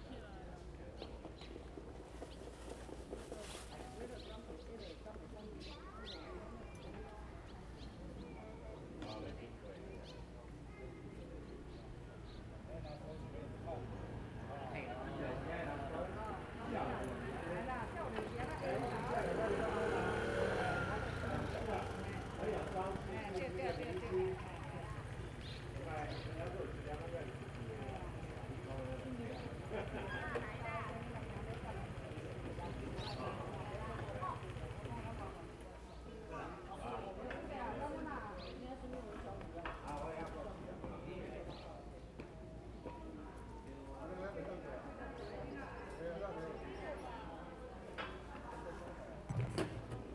2.4s Many people gathered 50.1s
12.2s Traffic Sound 35.6s

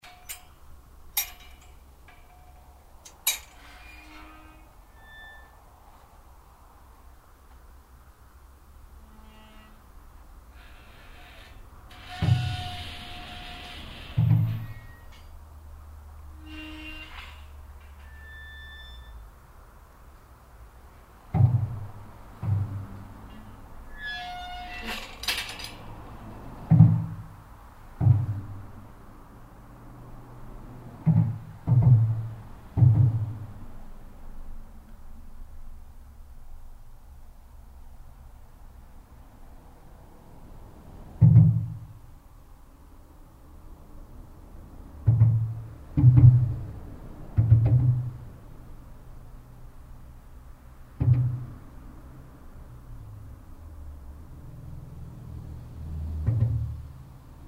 0.0s gates 5.7s
0.0s underpass traffic 57.4s

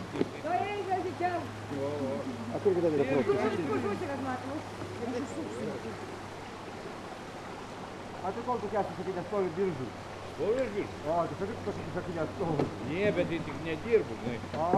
0.0s local peoples taking it's water 14.7s
0.4s talks at the holy source 6.2s

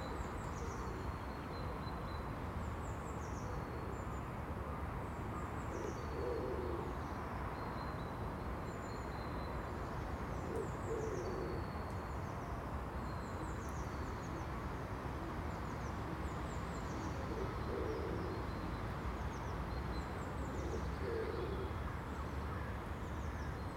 5.8s pigeon coos 6.9s
10.4s pigeon coos 11.7s
17.2s pigeon coos 18.4s
20.6s pigeon coos 21.8s

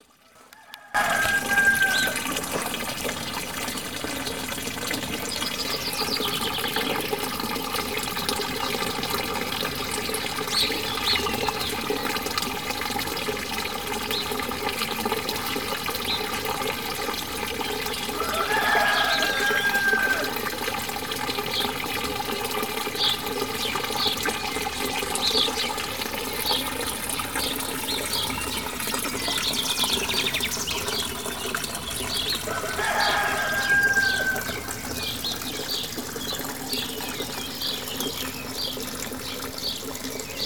0.9s roosters of the hamlet call for the awakening of all 2.2s
18.2s roosters of the hamlet call for the awakening of all 20.4s
32.4s roosters of the hamlet call for the awakening of all 34.8s

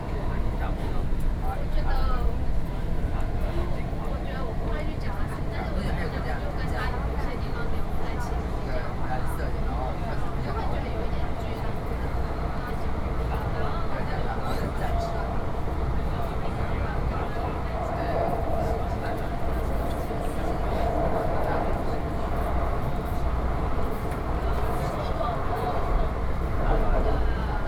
0.0s MRT Train 27.6s

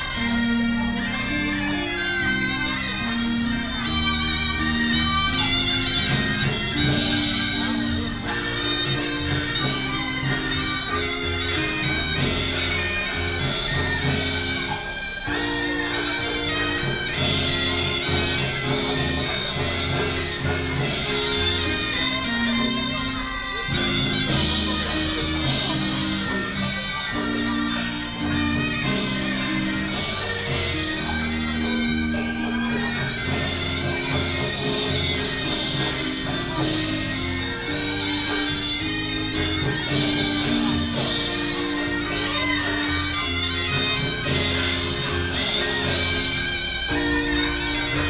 0.0s Taiwanese traditional opera 48.0s
0.0s Traffic sound 48.0s
0.0s Walking in the area of the temple 48.0s

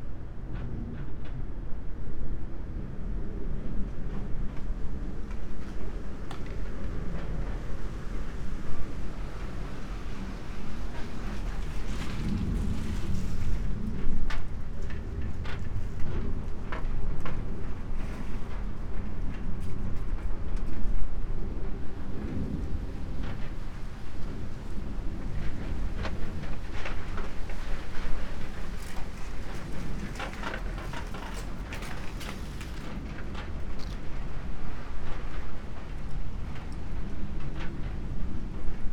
0.1s wooden sticks, moved by wind 38.9s

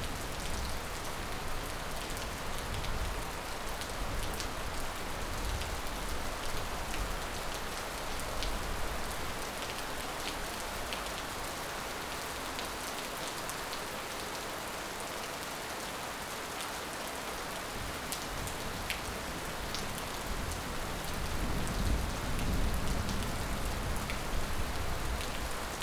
0.0s Light rain 25.8s

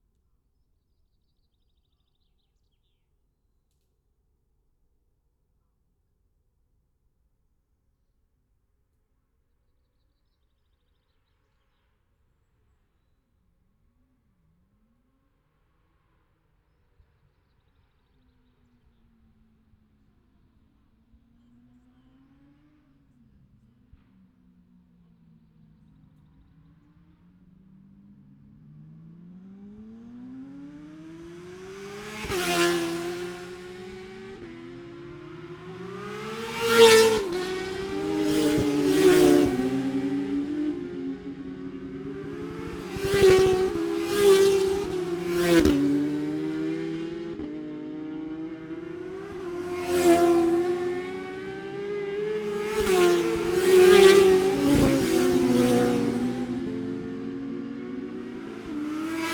17.7s motorcycle road racing 59.3s

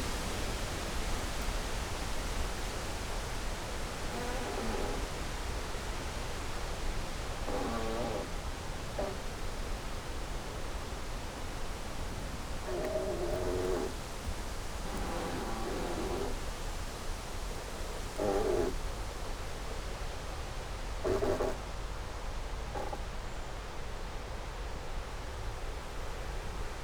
2.6s creaky tree 16.8s
17.6s creaky tree 18.8s
21.0s creaky tree 21.6s
22.8s creaky tree 23.0s

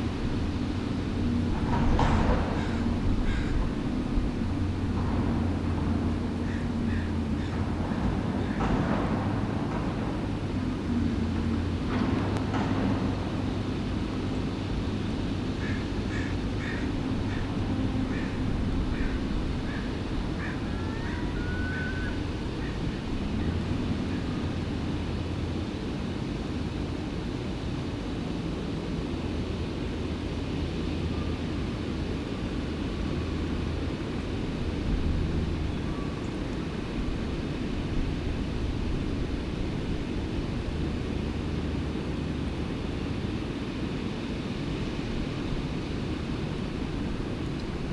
0.0s Boats queuing up to use the lock 47.9s
0.0s Planes 47.9s
0.0s Two freight trains passing overhead 47.9s
0.0s distant roar of the lock spillway and fish ladder 47.9s
0.0s guided tour boat coming through the lock 47.9s
0.0s trucks 47.9s
2.5s crows 3.6s
6.4s crows 7.6s
15.6s crows 22.8s
18.1s Seagulls 22.9s

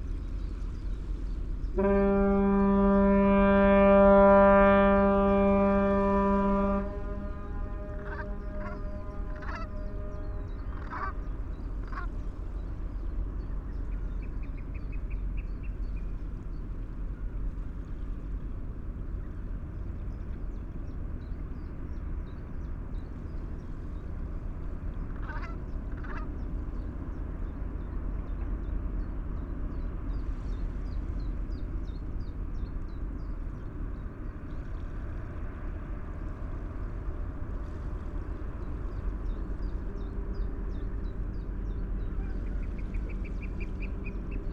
1.6s Ship's fog horn 13.9s
7.8s brent geese 12.2s
25.1s brent geese 26.4s
33.9s Ship's fog horn 44.5s

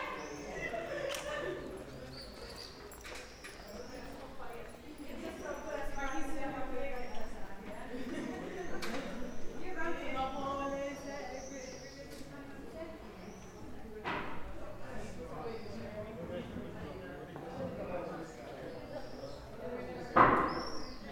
0.0s birds 4.6s
0.0s students walking and talking 21.1s
0.0s workers 21.1s
18.1s birds 21.1s

